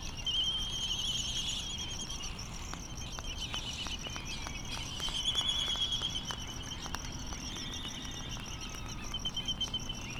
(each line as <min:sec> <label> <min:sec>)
0:00.0 crickets ticking 0:10.1
0:02.7 laysan calls and bill clapperings 0:10.1